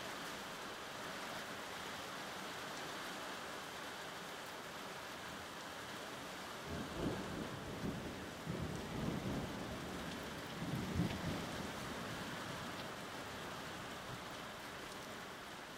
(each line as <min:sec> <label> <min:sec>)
0:00.0 rain 0:15.7
0:06.7 thunder 0:09.7